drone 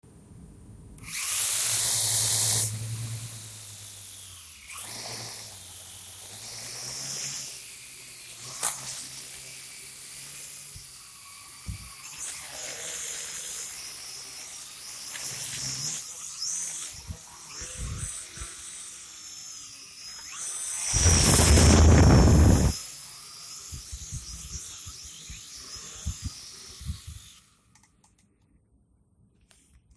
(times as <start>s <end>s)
20.9s 22.8s